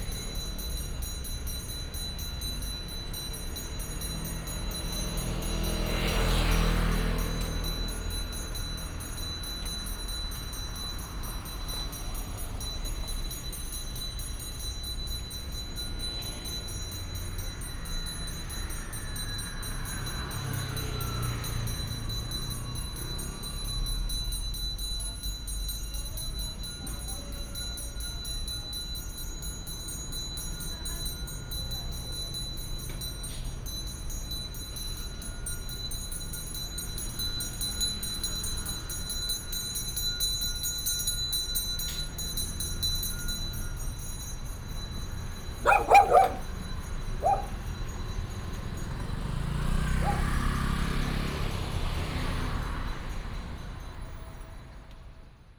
0.0s traffic sound 55.5s
45.6s Dog sounds 46.6s
47.2s Dog sounds 47.6s
50.0s Dog sounds 50.4s

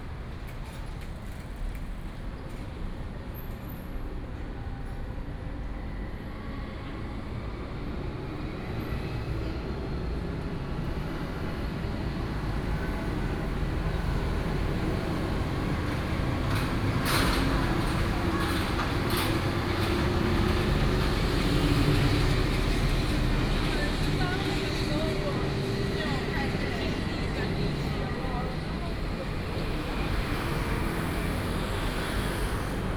9.5s Walking in a small alley 32.9s
11.4s Traffic Sound 32.9s

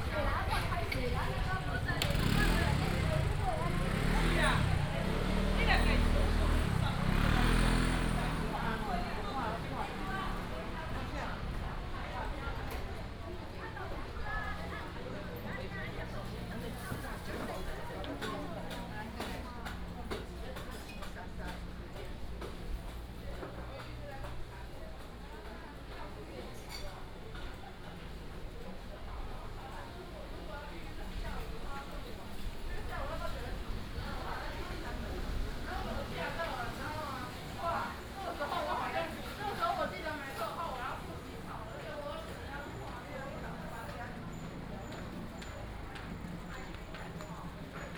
0.0s vendors peddling 20.5s
0.0s Traffic sound 24.5s
28.1s Traffic sound 47.9s
29.2s vendors peddling 47.9s

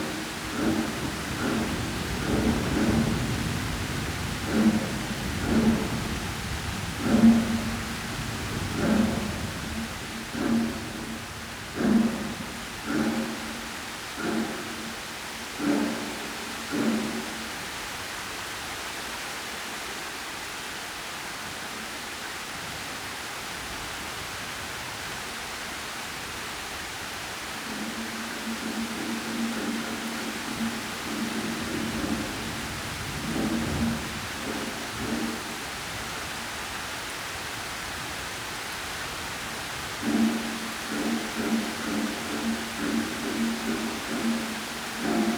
0.0s water drips 17.6s
0.0s drums 18.4s
0.0s rain 45.3s
27.4s drums 36.7s
27.6s water drips 36.0s
39.2s drums 45.3s
39.9s water drips 45.3s

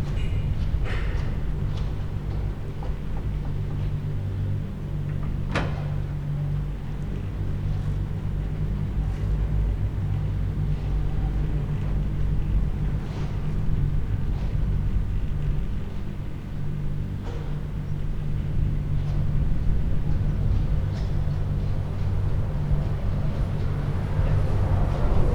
0.0s moving cable cars arriving and departing the station 25.3s

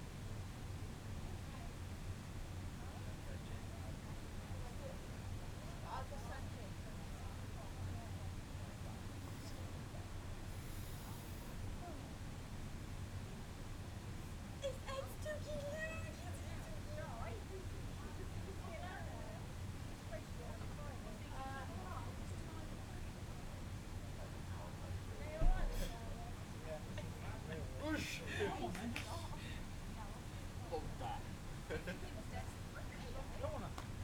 14.6s voices 23.5s
24.1s voices 34.0s

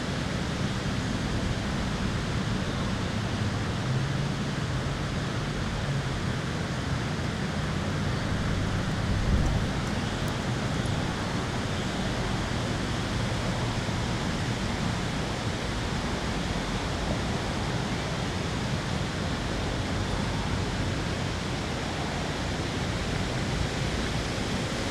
0.0s wind in the trees 24.9s

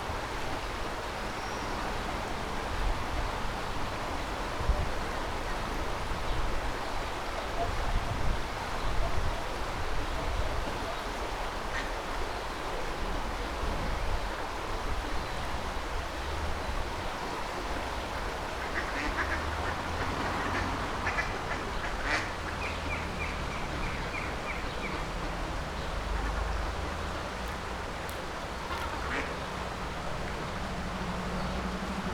0.0s swoosh of a gentle waterfall 32.1s
8.7s ducks swimming around 12.7s
15.8s traffic noise 32.1s
16.0s ducks swimming around 32.1s

